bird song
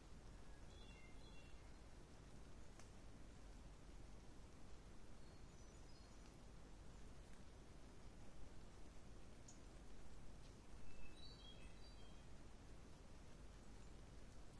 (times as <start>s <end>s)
0.4s 2.8s, 5.1s 6.4s, 9.4s 9.7s, 10.4s 12.4s, 13.6s 14.5s